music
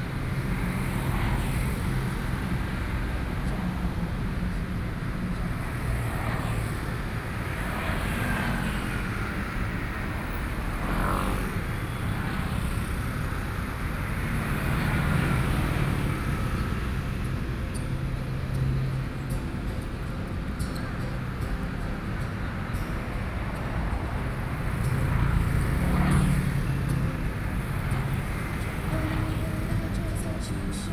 15.8s 30.9s

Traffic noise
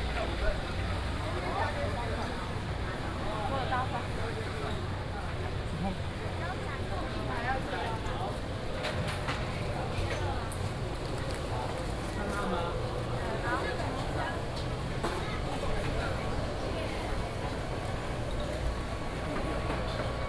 8.6s 20.2s

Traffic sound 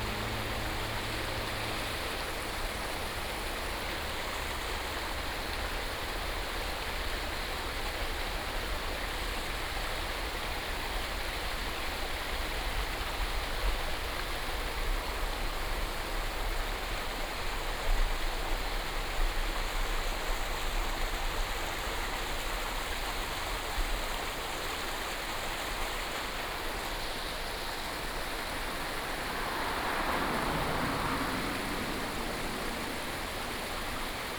0.0s 6.2s, 26.3s 34.3s

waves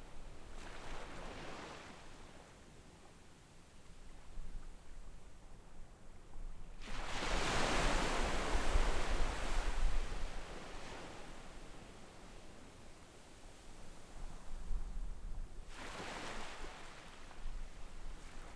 0.0s 3.2s, 6.8s 14.7s, 15.6s 18.5s

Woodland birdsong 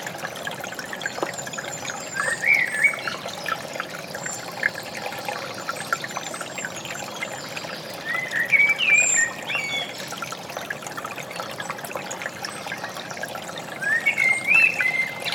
1.0s 10.2s, 13.8s 15.3s

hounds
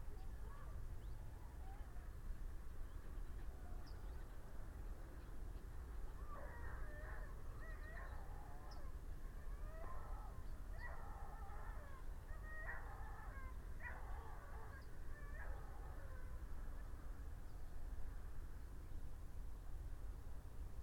6.2s 16.4s

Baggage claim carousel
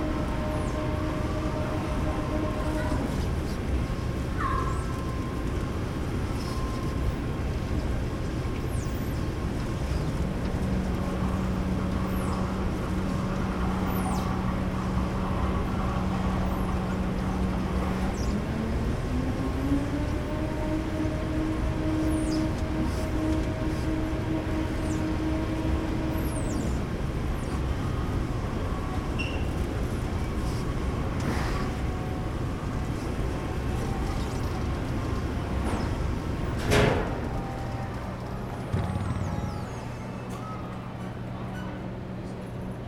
27.5s 42.2s

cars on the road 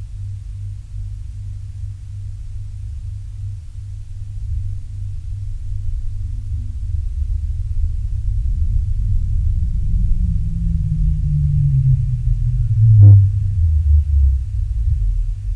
8.2s 15.3s

